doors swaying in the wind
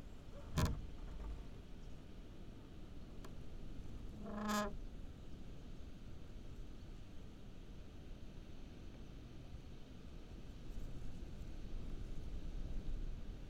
0:00.1 0:02.2

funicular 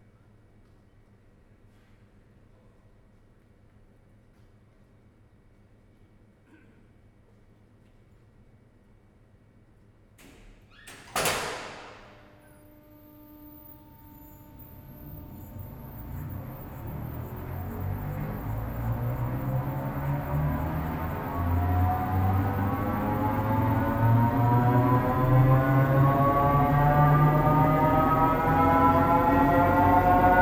0:12.1 0:30.4

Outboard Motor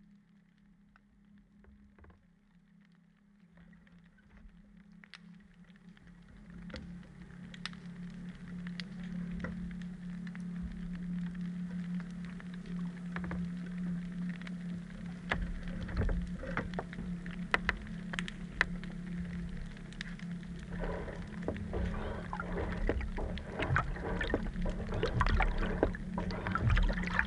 0:20.4 0:27.2

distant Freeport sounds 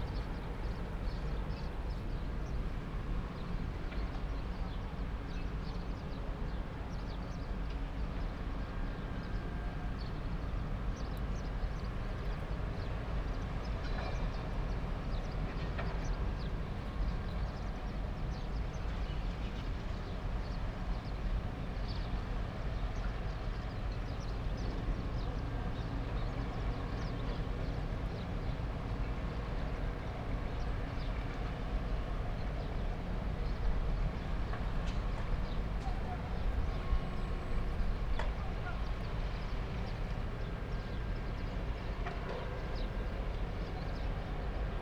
0:00.0 0:04.2

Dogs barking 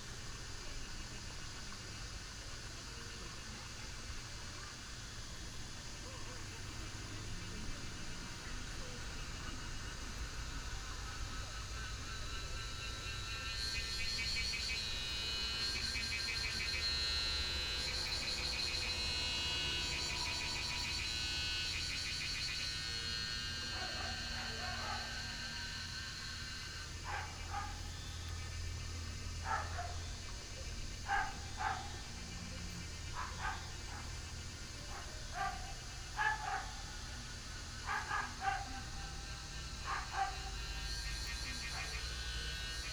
0:23.3 0:28.0, 0:29.4 0:40.8

